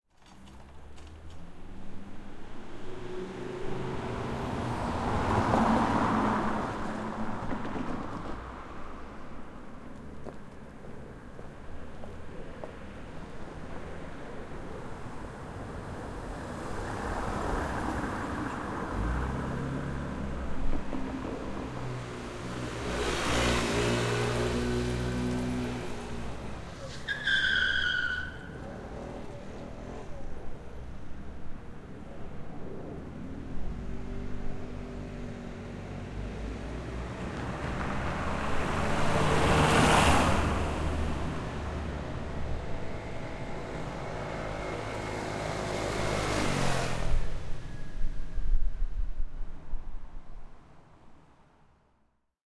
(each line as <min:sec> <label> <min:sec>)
0:00.1 Traffic 0:52.1
0:26.7 Tire Squeaking 0:30.2